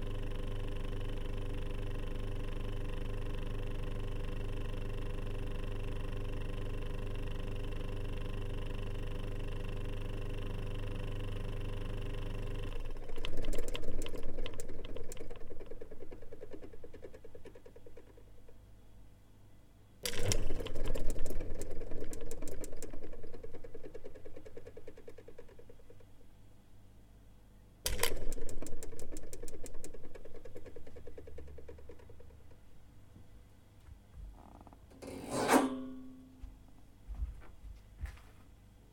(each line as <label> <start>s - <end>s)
Old soviet fridge 0.0s - 18.6s
Old soviet fridge 20.0s - 26.2s
Old soviet fridge 27.8s - 33.2s
Old soviet fridge 33.9s - 38.6s